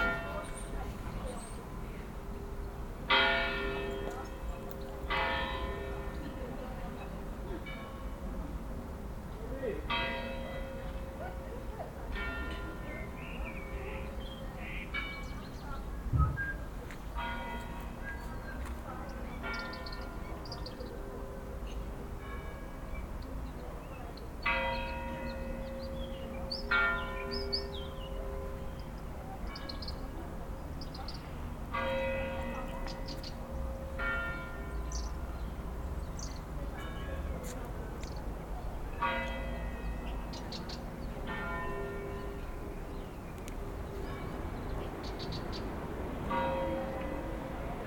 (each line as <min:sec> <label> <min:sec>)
0:00.0 Multiple bells 0:08.5
0:09.8 Multiple bells 0:15.8
0:17.1 Multiple bells 0:37.6
0:38.8 Multiple bells 0:45.5
0:46.2 Multiple bells 0:47.8